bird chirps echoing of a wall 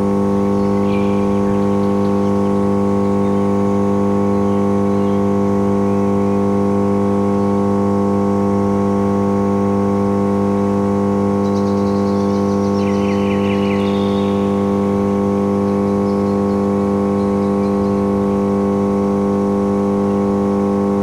0:00.3 0:05.4, 0:11.4 0:18.5

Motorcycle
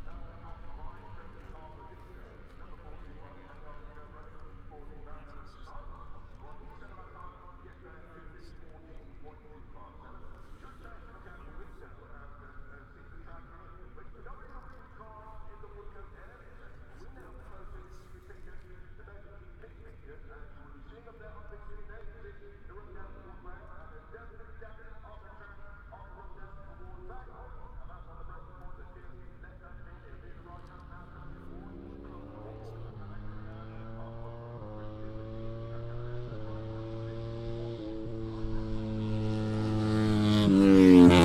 0:00.0 0:18.3, 0:27.2 0:41.2

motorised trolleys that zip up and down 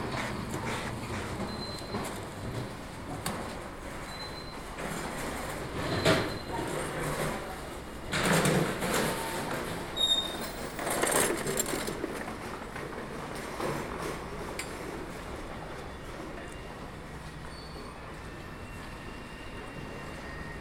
0:03.8 0:15.4

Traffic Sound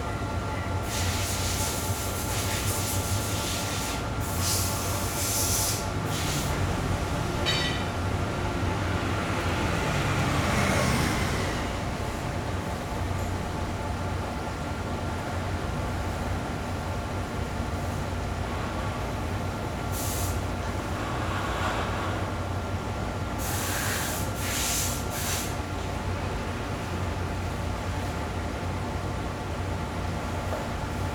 0:05.6 0:29.4

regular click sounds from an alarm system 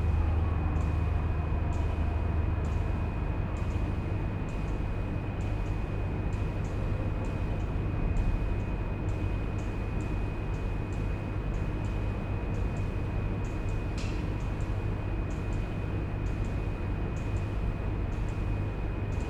0:05.4 0:19.2

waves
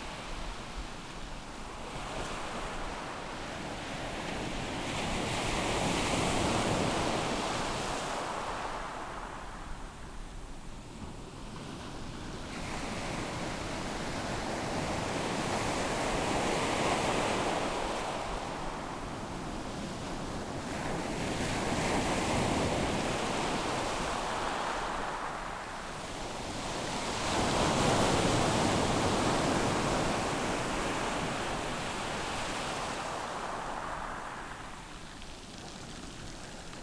0:12.2 0:36.8

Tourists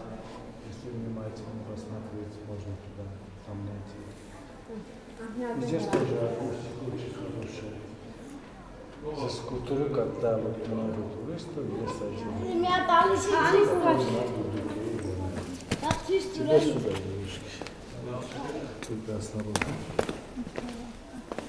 0:15.4 0:21.4

